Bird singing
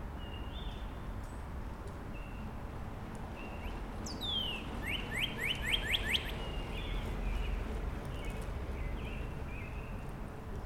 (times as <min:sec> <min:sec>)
0:00.2 0:01.0, 0:03.4 0:10.0